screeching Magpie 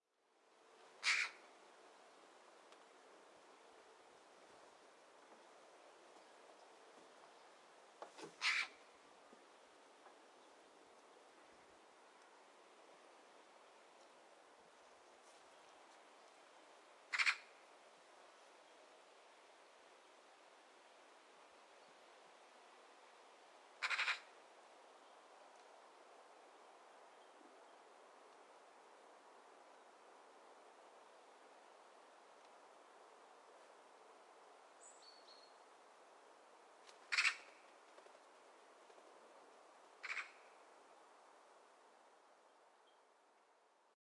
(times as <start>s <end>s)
1.0s 1.4s, 8.4s 8.8s, 17.1s 17.5s, 23.8s 24.3s, 37.1s 37.5s, 40.0s 40.4s